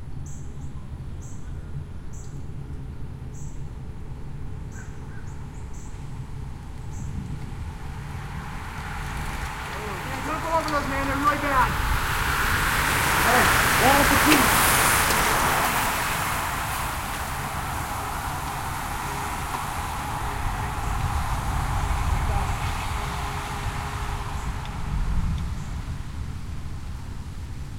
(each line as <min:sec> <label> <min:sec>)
0:04.4 birds in background 0:13.8
0:07.4 Small pass-by with talking 0:25.6
0:07.6 group pass-by with talking 0:25.0